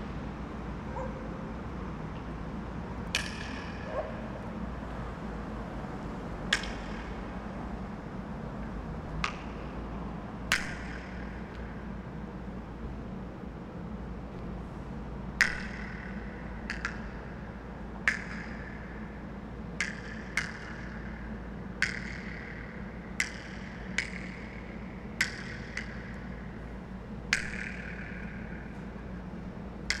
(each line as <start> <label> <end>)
3.1 echoes 4.9